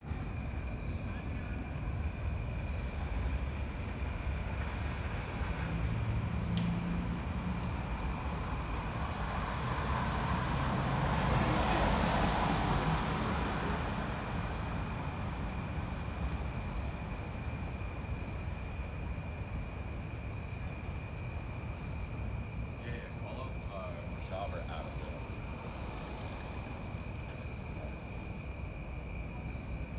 crickets 0:00.0 - 0:29.9
cars 0:00.0 - 0:18.0
cars 0:22.1 - 0:28.7
people walking by 0:22.7 - 0:28.2

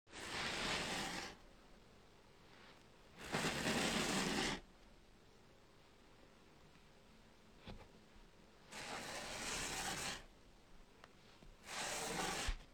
strokes on a fabric desk mat 0:00.2 - 0:01.4
strokes on a fabric desk mat 0:02.4 - 0:04.7
strokes on a fabric desk mat 0:08.6 - 0:10.3
strokes on a fabric desk mat 0:11.0 - 0:12.7

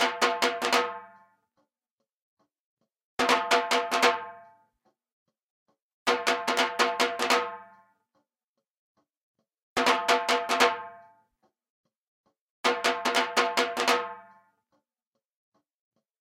Dhol Drum Various Beats 0:00.0 - 0:01.7
Dhol Drum Various Beats 0:03.2 - 0:05.0
Dhol Drum Various Beats 0:06.1 - 0:08.1
Dhol Drum Various Beats 0:09.8 - 0:11.2
Dhol Drum Various Beats 0:12.6 - 0:14.6

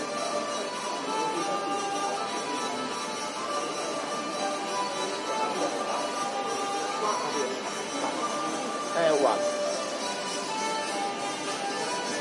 hurdy gurdy 0:00.0 - 0:12.2

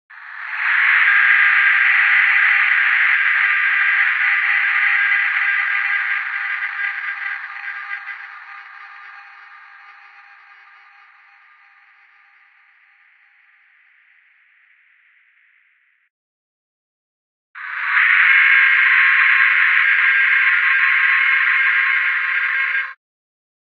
Digital Ghost Cry 0:17.6 - 0:23.0

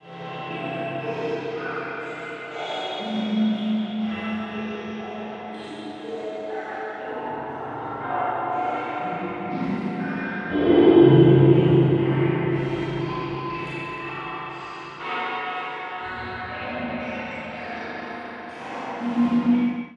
dimensioned sound from analog synthesis 0:00.0 - 0:19.9

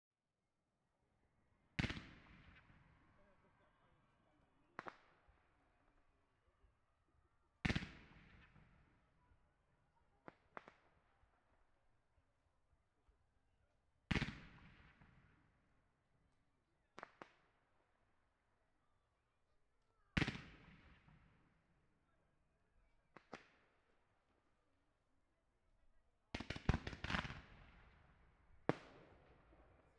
Fireworks 0:01.8 - 0:02.8
Fireworks 0:04.7 - 0:05.3
Fireworks 0:07.6 - 0:08.8
Fireworks 0:10.1 - 0:11.3
Fireworks 0:14.1 - 0:15.3
Fireworks 0:17.0 - 0:17.5
Fireworks 0:20.2 - 0:21.3
Fireworks 0:23.1 - 0:23.6
Fireworks 0:26.3 - 0:29.9

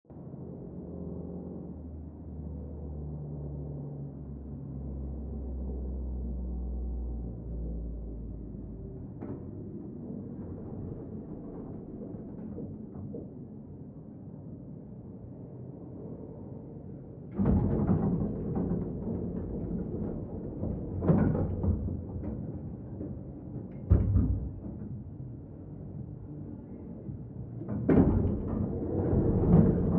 Builders 0:07.8 - 0:29.9

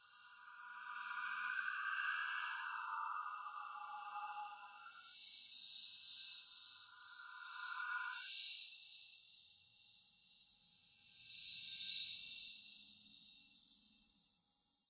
Whispering of ghostly voices 0:00.0 - 0:05.3

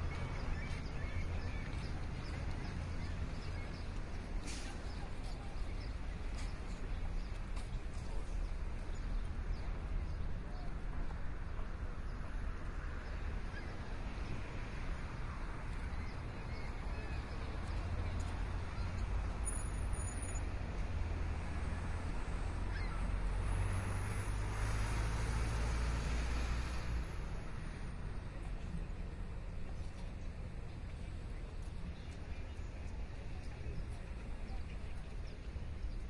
traffic 0:00.0 - 0:36.0
walk 0:06.3 - 0:09.0
walk 0:29.6 - 0:36.0

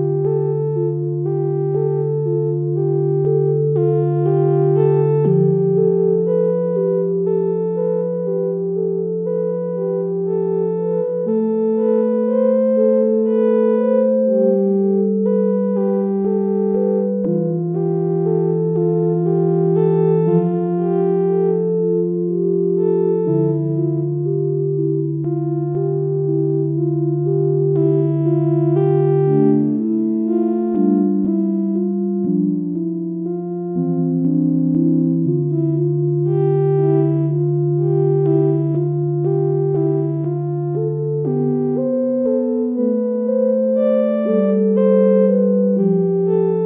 Melodic sequence 0:23.4 - 0:46.6

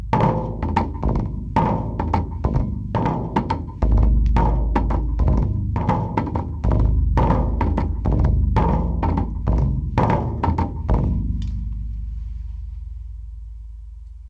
three drums 0:00.0 - 0:14.2

